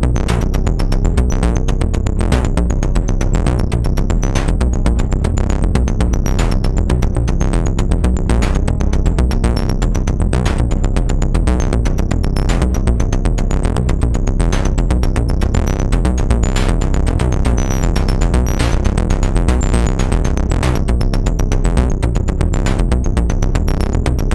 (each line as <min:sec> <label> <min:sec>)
0:00.0 Drones and sequences 0:24.3